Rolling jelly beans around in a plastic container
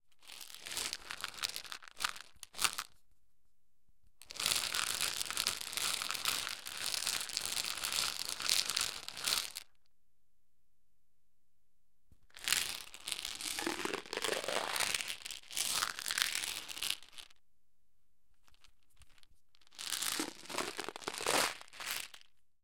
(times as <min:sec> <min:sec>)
0:04.2 0:09.6, 0:12.4 0:17.3, 0:18.4 0:22.3